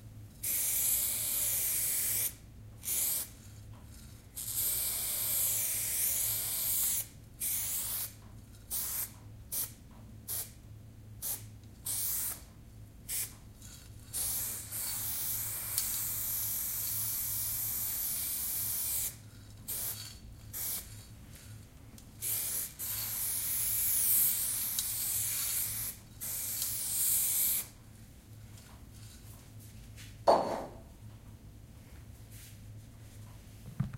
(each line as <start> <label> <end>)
0.4 spraying paint with a graffiti spraypaintcan 3.4
4.4 spraying paint with a graffiti spraypaintcan 10.6
11.2 spraying paint with a graffiti spraypaintcan 12.5
13.1 spraying paint with a graffiti spraypaintcan 13.4
14.1 spraying paint with a graffiti spraypaintcan 21.0
22.2 spraying paint with a graffiti spraypaintcan 27.7